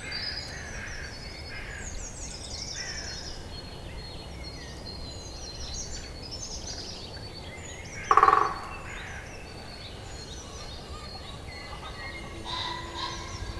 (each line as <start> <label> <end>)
8.1 European green woodpecker strikes a tree 8.8